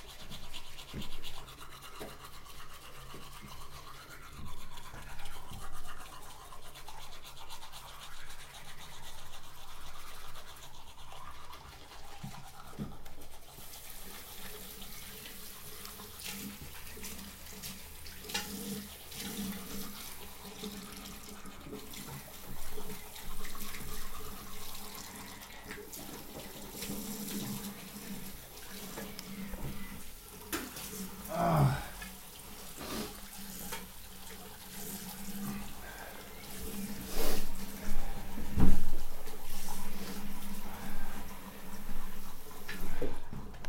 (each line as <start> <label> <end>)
0.0 tooth brushes 43.6